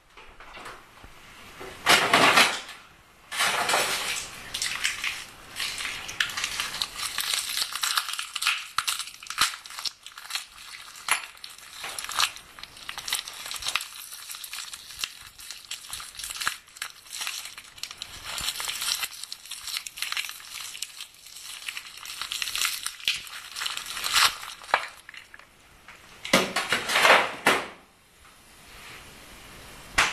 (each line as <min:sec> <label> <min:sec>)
0:00.0 refrigerator 0:27.9
0:03.3 ice 0:25.5